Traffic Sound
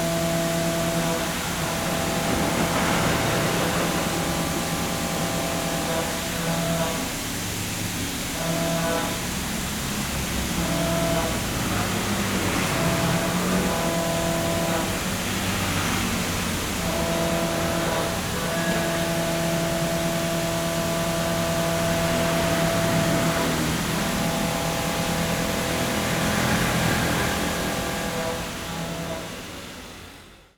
1.1 6.4, 9.1 18.8, 21.4 30.2

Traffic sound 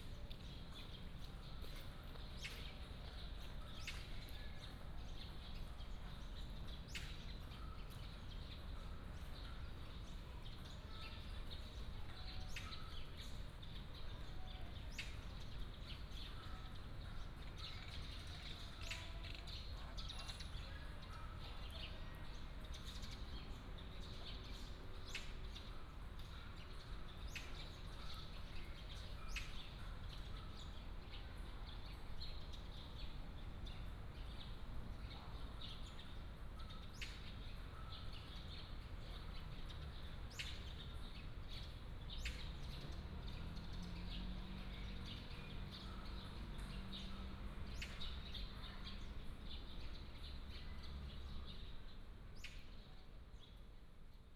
38.8 52.4

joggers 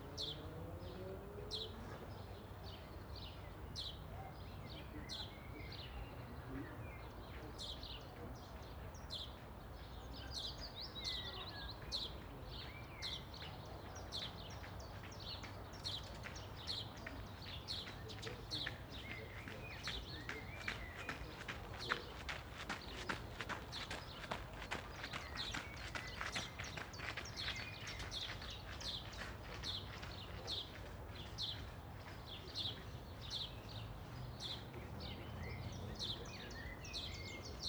17.8 32.4

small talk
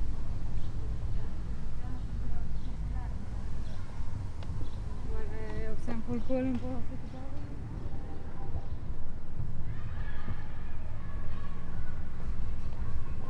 0.6 9.0

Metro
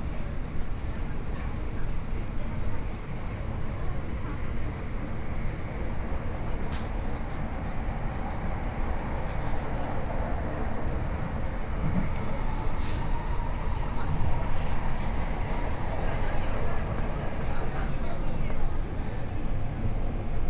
12.8 20.4

